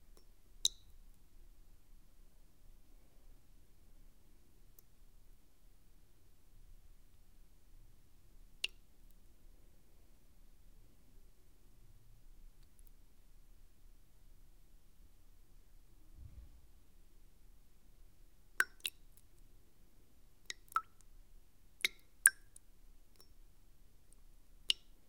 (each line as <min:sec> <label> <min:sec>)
0:00.6 water drops in a bowl 0:00.9
0:18.6 water drops in a bowl 0:19.0
0:20.5 water drops in a bowl 0:21.1
0:21.8 water drops in a bowl 0:22.6
0:24.7 water drops in a bowl 0:25.0